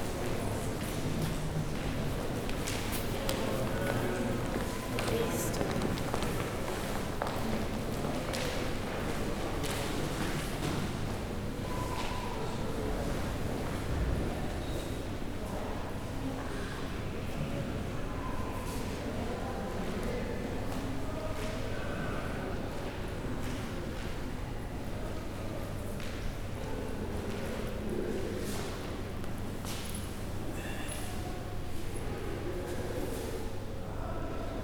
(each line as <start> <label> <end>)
0.0 school groups coming in and out of the room 16.2